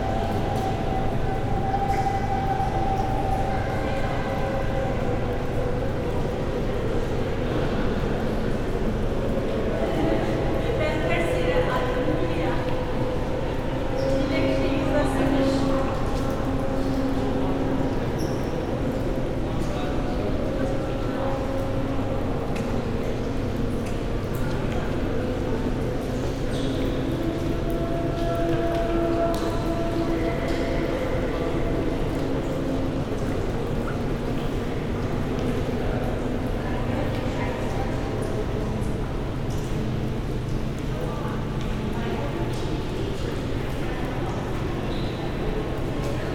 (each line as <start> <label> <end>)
20.6 music 35.7